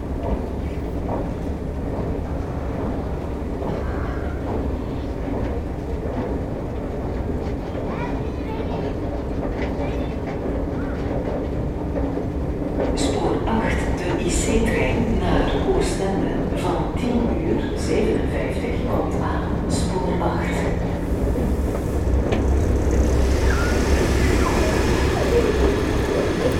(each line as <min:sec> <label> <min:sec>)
0:00.0 intercity trains upcoming 0:26.5
0:00.0 suitcases on the cobblestones 0:26.5
0:13.0 announcements 0:21.2
0:22.9 announcements 0:26.5
0:23.3 Supervisors talking 0:26.5